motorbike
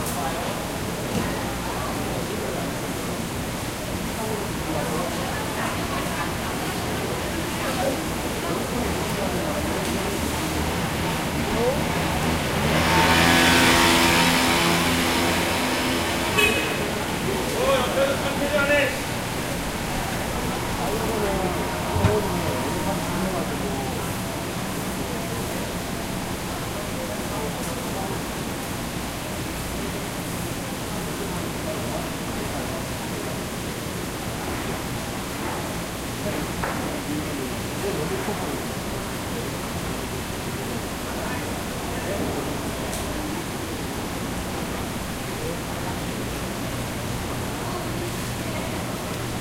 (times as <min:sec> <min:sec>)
0:09.5 0:27.0